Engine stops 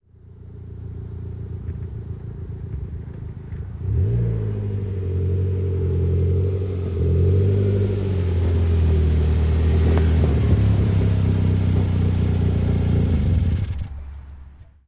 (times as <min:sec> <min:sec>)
0:07.6 0:14.2